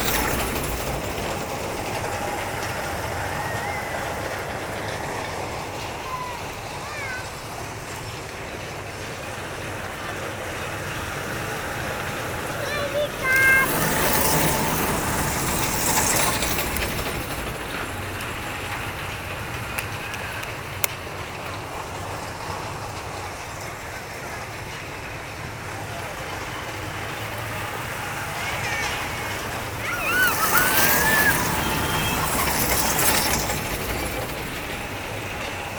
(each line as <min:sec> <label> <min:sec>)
0:00.0 Bumper cars 0:35.7
0:00.0 Children, playing in an attraction park 0:35.7
0:00.0 roller coaster 0:35.7